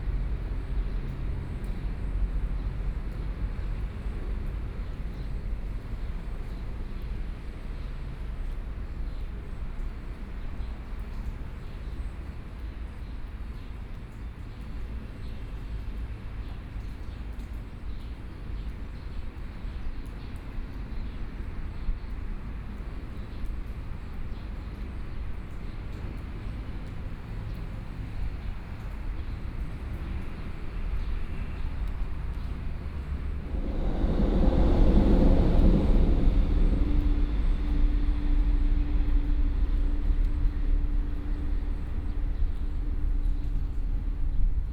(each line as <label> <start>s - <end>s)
Trains traveling through 18.7s - 44.7s
Traffic Sound 26.0s - 44.7s